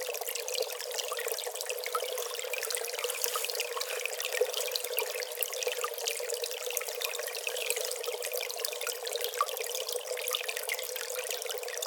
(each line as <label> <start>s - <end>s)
Gentle stream 0.0s - 11.8s